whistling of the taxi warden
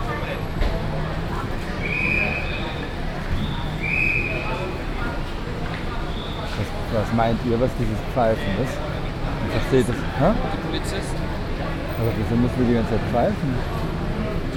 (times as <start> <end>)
1.7 4.8, 6.0 6.6